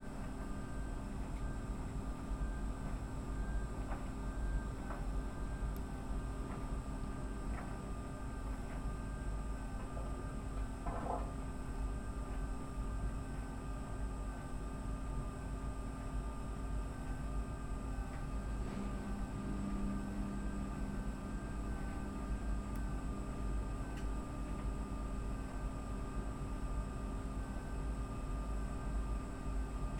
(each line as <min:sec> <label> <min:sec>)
0:16.2 dryer doing its job 0:26.4